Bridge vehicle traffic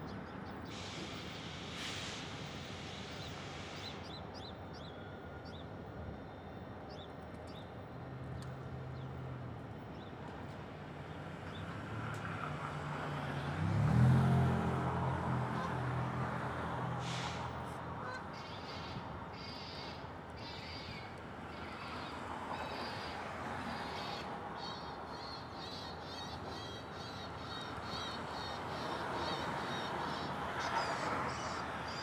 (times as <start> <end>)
7.9 32.0